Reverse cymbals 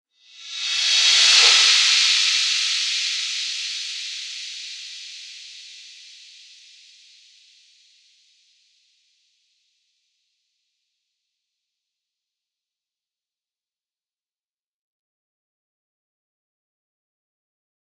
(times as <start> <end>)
0.2 7.2